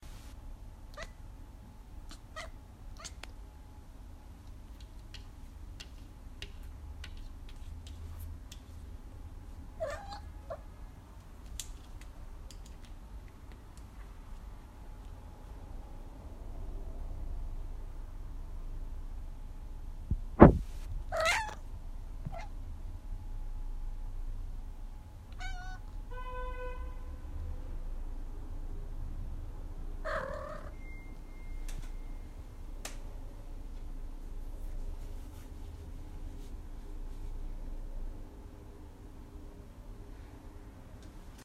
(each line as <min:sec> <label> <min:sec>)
0:02.1 Cat meowing 0:03.2
0:09.8 Cat meowing 0:10.6
0:21.1 Cat meowing 0:21.6
0:25.4 Cat meowing 0:25.9
0:30.0 Cat meowing 0:30.8